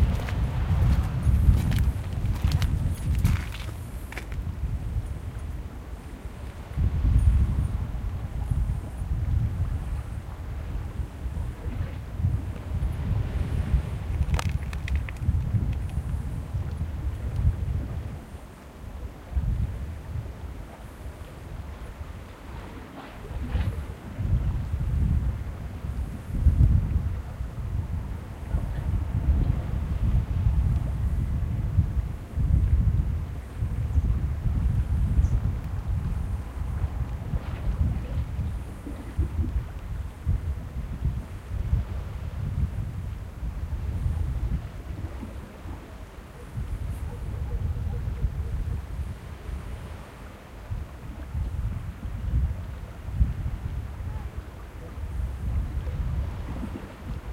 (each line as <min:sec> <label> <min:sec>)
0:00.0 boats in the distance 0:57.3
0:00.0 wind 0:57.3